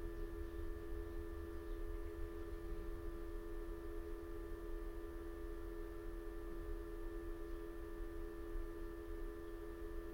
constant low level electrical hum 0:00.0 - 0:10.1

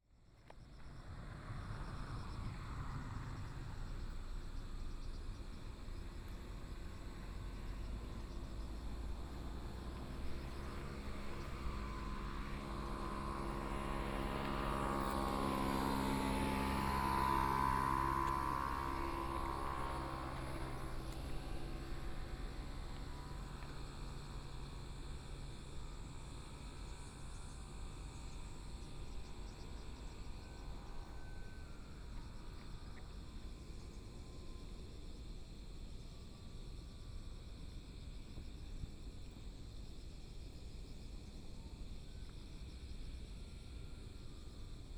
Traffic Sound 0:01.1 - 0:24.2

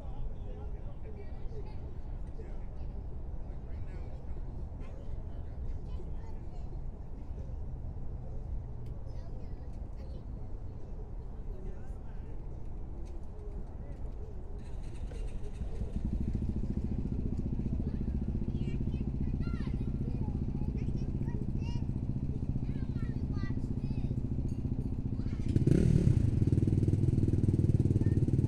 all-terrain quads 0:13.0 - 0:28.4
children playing 0:17.7 - 0:24.2

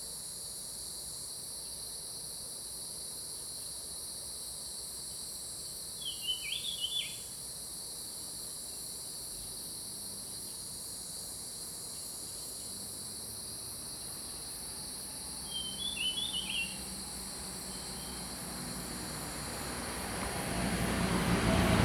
Cicadas sound 0:00.0 - 0:21.8
Birds singing 0:15.4 - 0:16.9

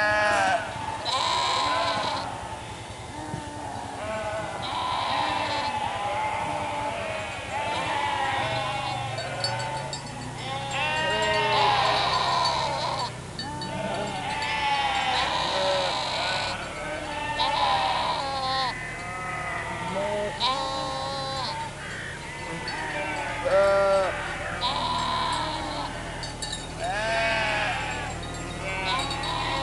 Sheeps Lament 0:00.0 - 0:29.6

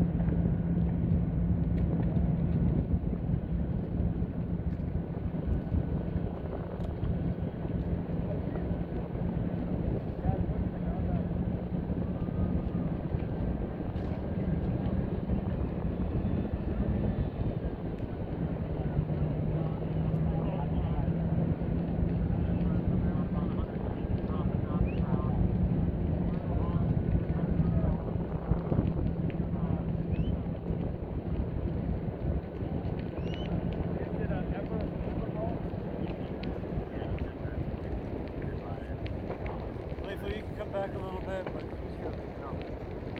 extremely hot burning of the Temple of Direction 0:00.0 - 0:43.1

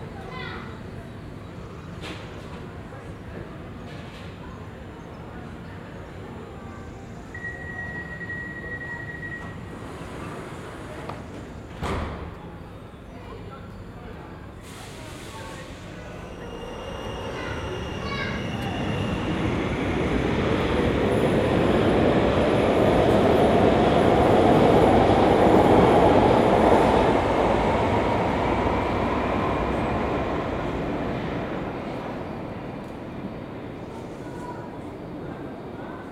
metro 0:00.0 - 0:36.1
Conversations 0:12.6 - 0:21.3

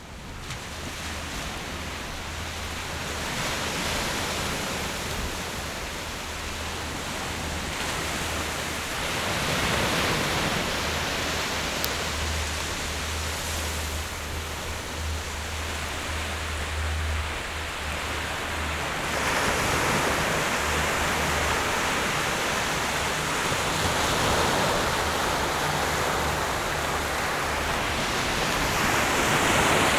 waves 0:00.0 - 0:29.9

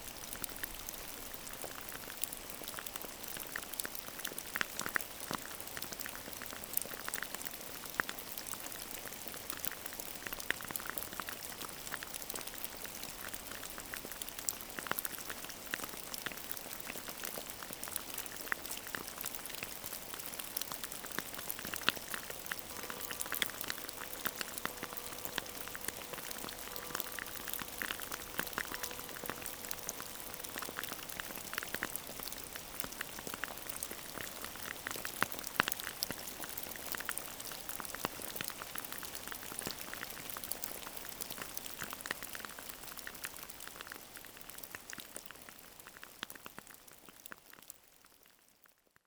rain is falling on gravels 0:00.0 - 0:48.8
town hall bell 0:22.0 - 0:32.2

